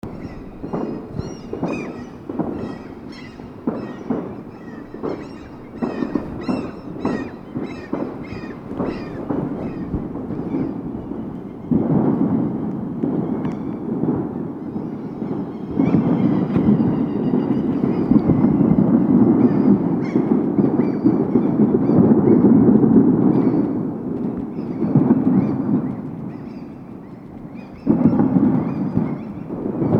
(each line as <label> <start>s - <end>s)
Fireworks 0.0s - 29.9s